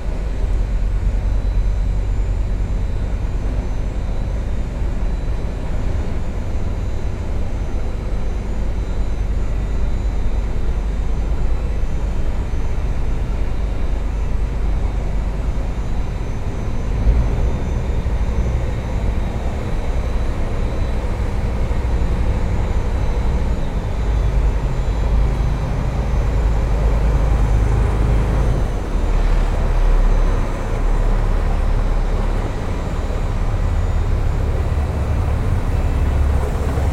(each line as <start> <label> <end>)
0.0 boat entering (and going out) the sluice 36.9
33.6 bulldozer loading slag 36.9